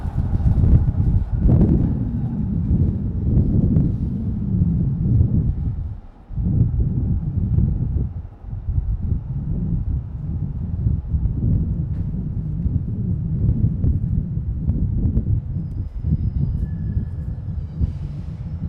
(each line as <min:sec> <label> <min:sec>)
0:00.0 Wind Blowing in the mic 0:18.6